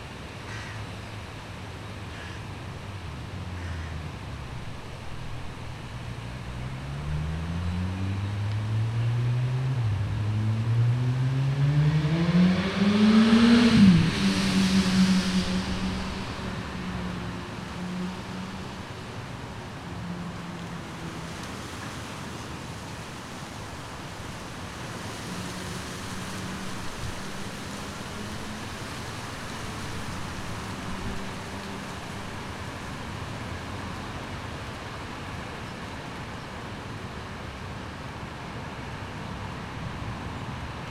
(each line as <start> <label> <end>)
0.0 creaking trees during a windstorm 40.9
0.5 Crows 0.9
2.1 Crows 2.5
3.6 Crows 4.0